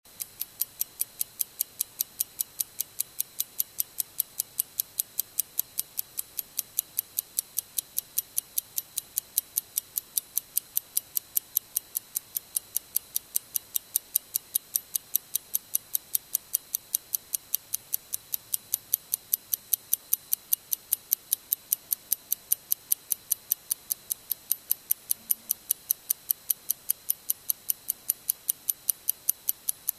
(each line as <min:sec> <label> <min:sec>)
0:00.0 Mechanical stopwatch ticking 0:29.9